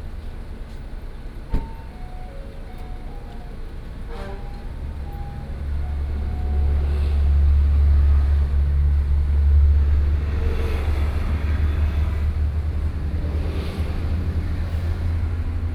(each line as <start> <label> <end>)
3.3 Traffic Sound 15.7